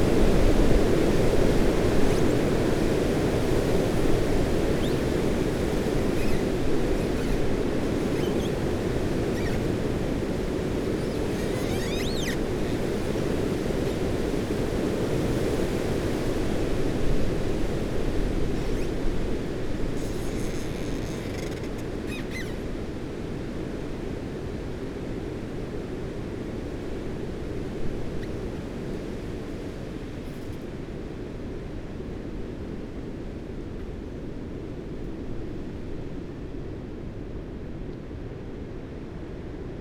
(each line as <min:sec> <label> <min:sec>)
0:01.6 Branches rubbing and creaking in a gale 0:14.5
0:17.6 Branches rubbing and creaking in a gale 0:22.8